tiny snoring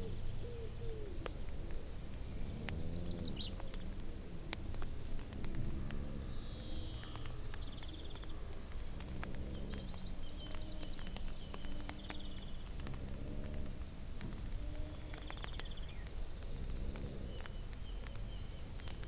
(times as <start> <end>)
16.6 17.5